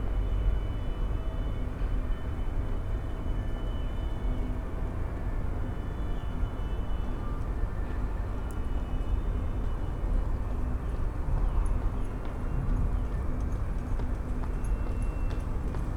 pedestrians and joggers 0:10.8 - 0:15.9

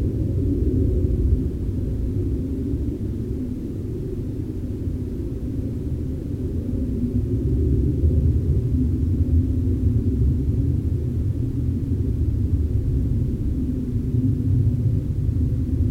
Airplanes flying over Owens Lake 0:00.0 - 0:15.9

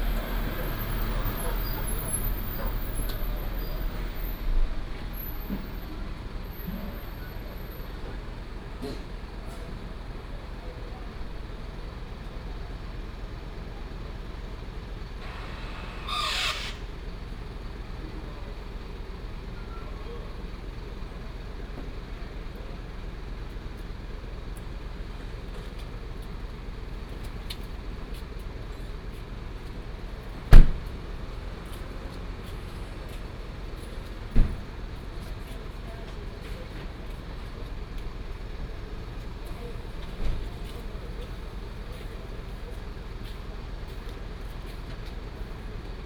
Truck unloading 0:00.0 - 0:08.2
Traffic sound 0:00.0 - 0:46.0
Truck unloading 0:15.1 - 0:17.2

